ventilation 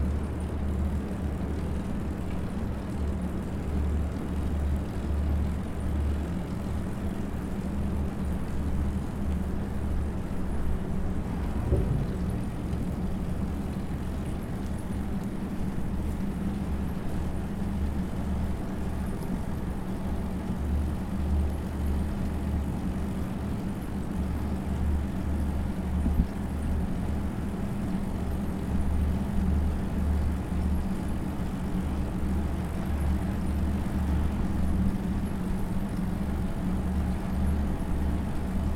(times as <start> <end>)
6.4 15.9